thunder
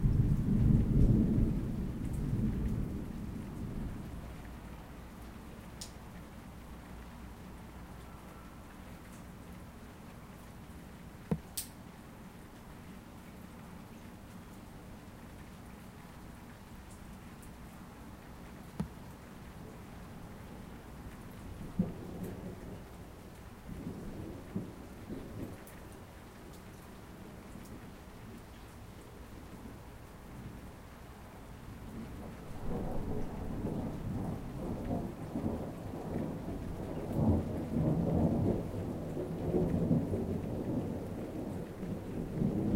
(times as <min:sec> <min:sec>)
0:00.0 0:04.3, 0:21.6 0:22.8, 0:32.0 0:42.7